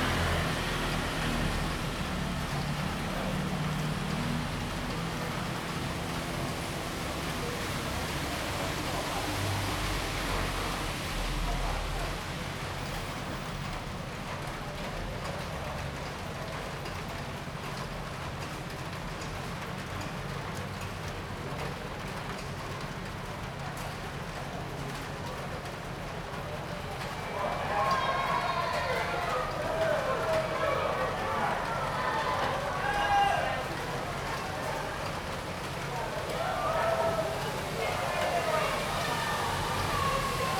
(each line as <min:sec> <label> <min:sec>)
0:00.0 Traffic Sound 0:40.5
0:27.0 Cheers sound 0:40.5